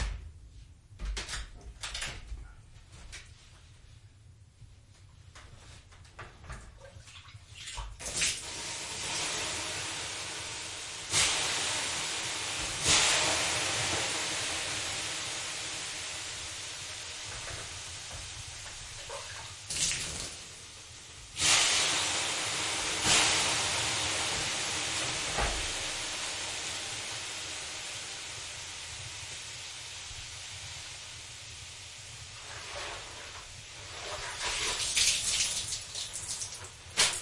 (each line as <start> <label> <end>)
32.4 bath whisk 37.2